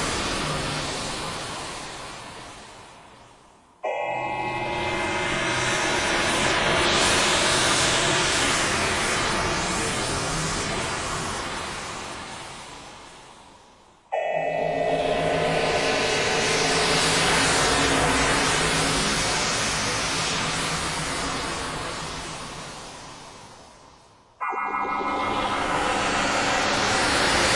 3.8s bright atonal horror pads / stabs 7.8s
14.1s bright atonal horror pads / stabs 20.0s
24.4s bright atonal horror pads / stabs 27.5s

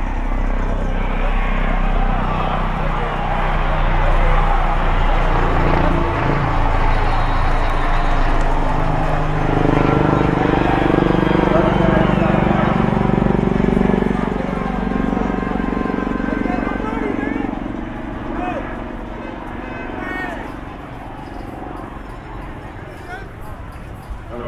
0.0s American football 24.4s
0.0s crowd 24.4s

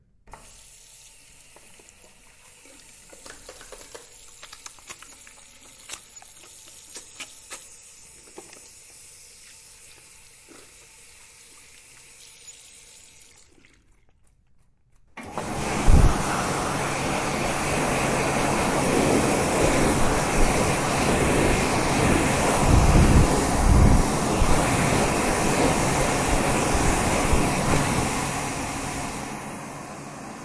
0.4s washing hands using a faucet 13.9s
15.5s washing hands using a faucet 29.2s

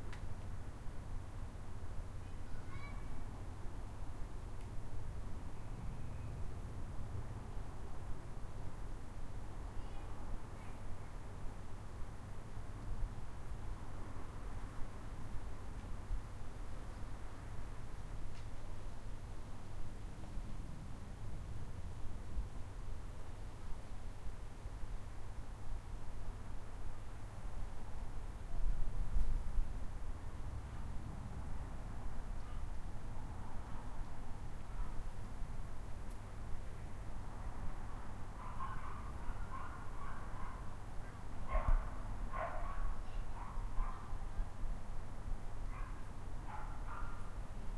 2.2s children playing in the distance 3.4s
38.4s dogs barking 40.7s
41.5s dogs barking 44.1s
45.7s dogs barking 47.3s

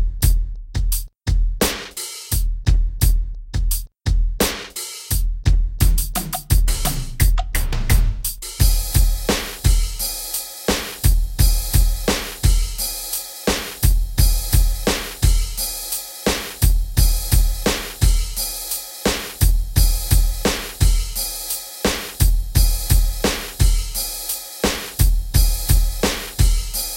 0.0s Drum/Beat loops 26.9s

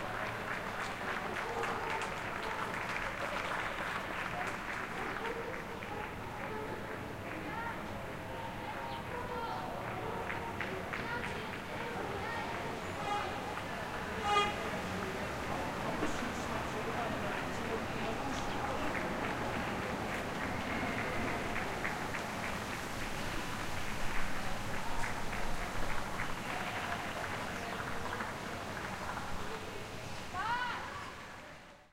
0.0s cheering 15.8s
0.0s applause 31.6s
15.8s People running 29.8s
16.6s cheering 31.4s

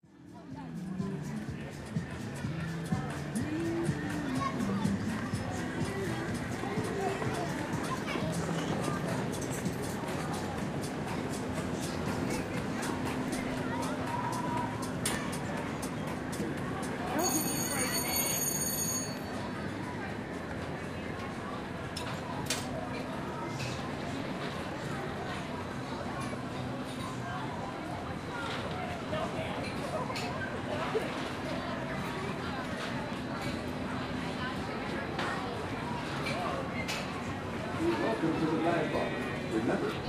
0.0s chatter of nearby people 40.0s
0.0s recorded sound effects of a kids' ride 40.0s
1.0s clanks and bangs of the metal ride going around 38.3s
17.1s bell 19.5s

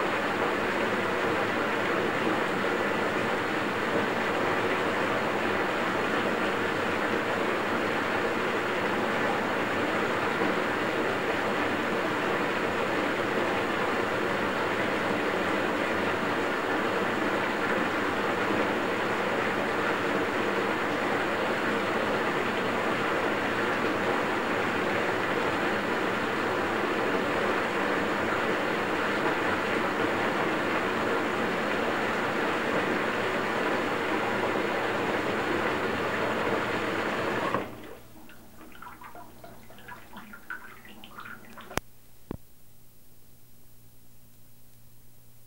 0.0s bathtub filling with water 41.8s

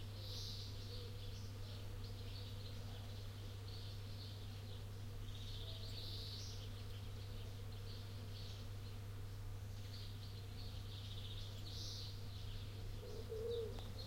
0.0s birds 14.0s

